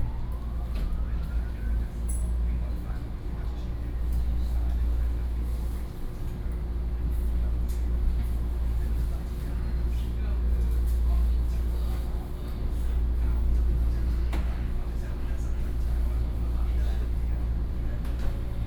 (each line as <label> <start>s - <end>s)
Inside the train 0.0s - 18.6s